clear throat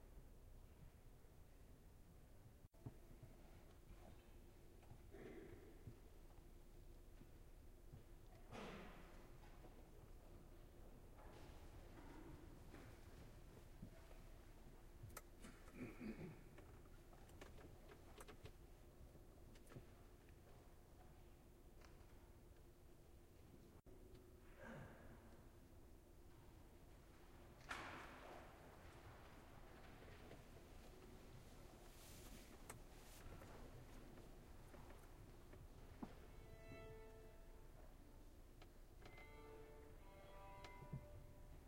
5.0s 6.0s, 15.4s 16.7s, 24.4s 25.4s

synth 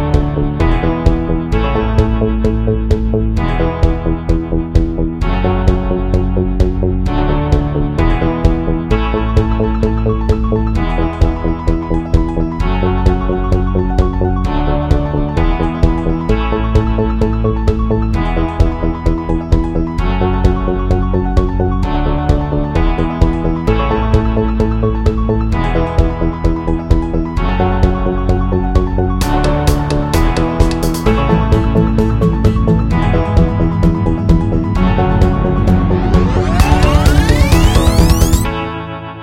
30.4s 38.9s

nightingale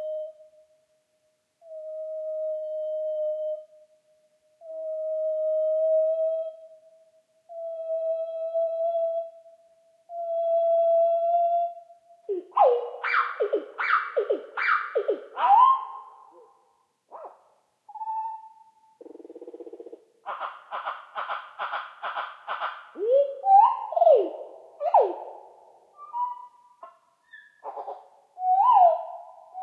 12.3s 29.6s

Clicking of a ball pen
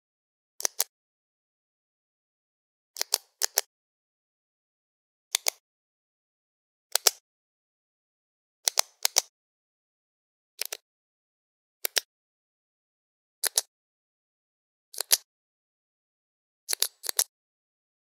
0.6s 0.9s, 3.0s 3.7s, 5.3s 5.6s, 6.9s 7.2s, 8.6s 9.3s, 10.6s 10.8s, 11.8s 12.1s, 13.4s 13.7s, 14.9s 15.3s, 16.7s 17.3s

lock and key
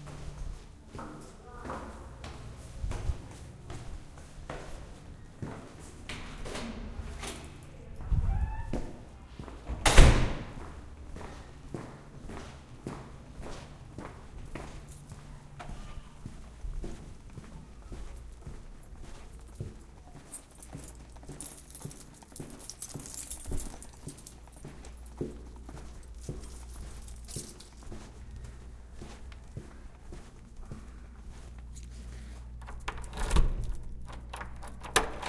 19.4s 27.8s, 32.6s 35.2s

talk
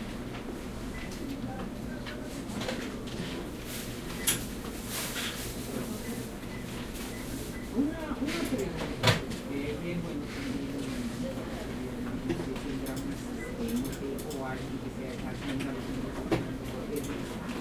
7.7s 17.6s

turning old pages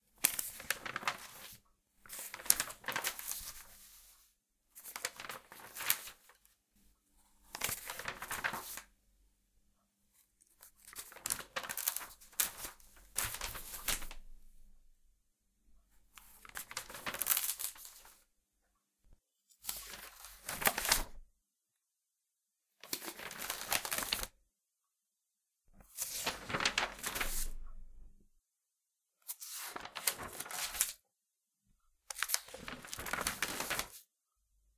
0.1s 8.9s, 10.1s 14.8s, 15.8s 18.2s, 19.5s 21.2s, 22.8s 24.4s, 25.8s 28.2s, 29.2s 31.0s, 32.0s 34.1s

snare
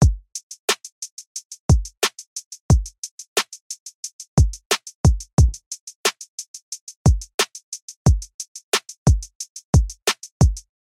10.1s 10.3s

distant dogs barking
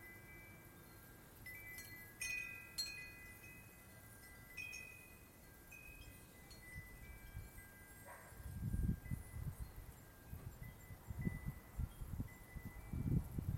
8.0s 8.4s

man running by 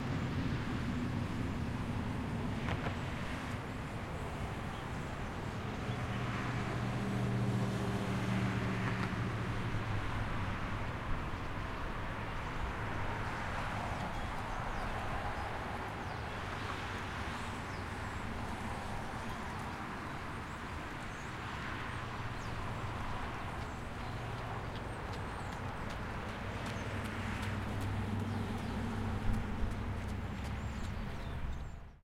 23.0s 31.6s

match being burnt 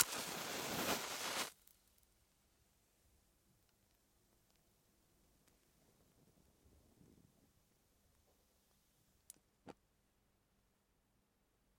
0.0s 1.6s

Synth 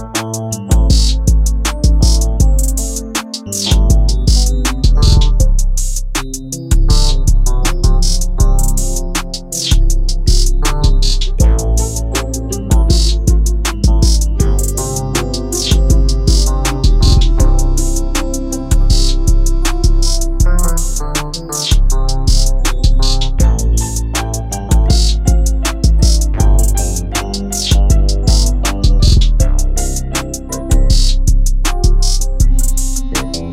6.9s 33.5s

